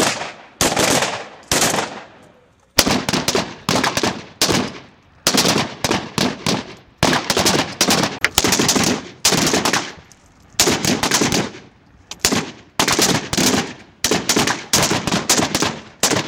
AK 47 weapons being shot 0:00.0 - 0:02.2
AK 47 weapons being shot 0:02.8 - 0:16.2

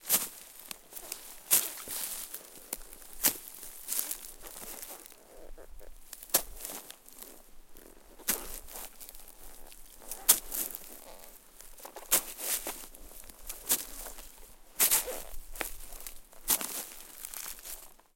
branches 0:00.0 - 0:18.1
step-dry-leaves 0:00.0 - 0:18.1

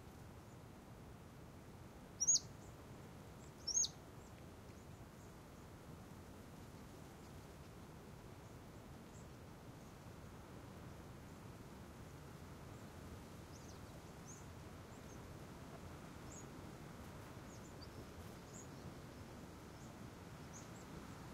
constant breeze 0:00.0 - 0:21.3
rustling leaves 0:00.0 - 0:21.3
Small birds 0:02.2 - 0:02.8
Small birds 0:03.4 - 0:05.7
Small birds 0:08.4 - 0:10.1
Small birds 0:12.7 - 0:21.3

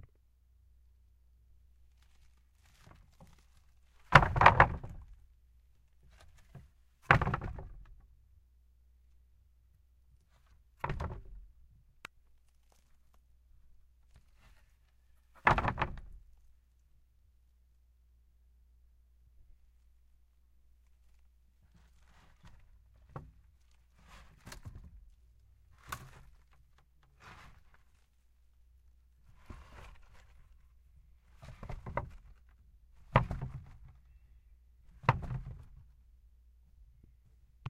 wood pallet impacts 0:04.1 - 0:05.1
wood pallet impacts 0:07.0 - 0:07.9
wood pallet impacts 0:15.4 - 0:16.2
wood pallet impacts 0:33.1 - 0:33.9
wood pallet impacts 0:35.0 - 0:35.8

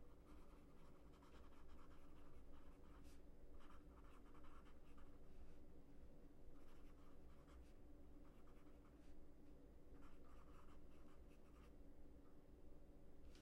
Writing down notes with pencil on a notepad 0:00.1 - 0:05.6
Writing down notes with pencil on a notepad 0:06.6 - 0:09.2
Writing down notes with pencil on a notepad 0:10.0 - 0:11.8

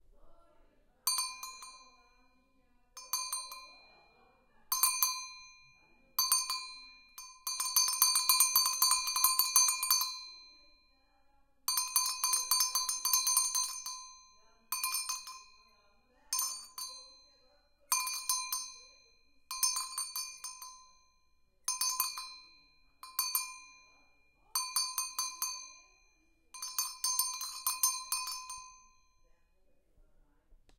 Cow Goat Bell 0:01.1 - 0:02.2
Cow Goat Bell 0:03.0 - 0:10.8
Cow Goat Bell 0:11.7 - 0:29.2

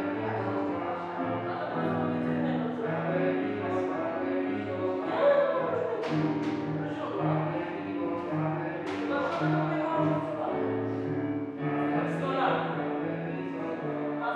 singing 0:00.0 - 0:10.9

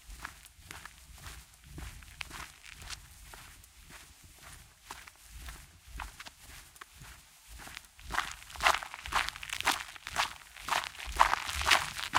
Walk on gravel 0:00.1 - 0:12.1
grass 0:00.2 - 0:12.1
wet grass 0:08.2 - 0:12.1

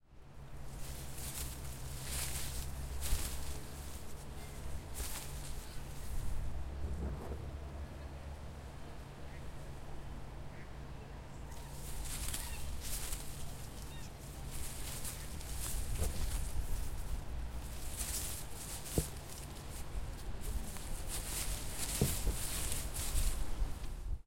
walking slowly through dry leaves 0:00.4 - 0:06.8
walking slowly through dry leaves 0:11.4 - 0:24.2

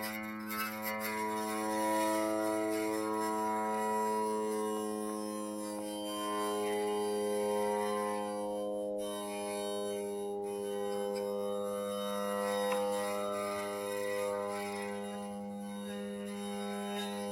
drone sound with the Ebow 0:00.0 - 0:17.3

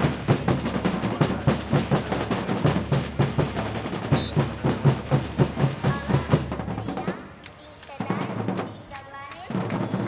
background crowd people 0:00.0 - 0:10.0

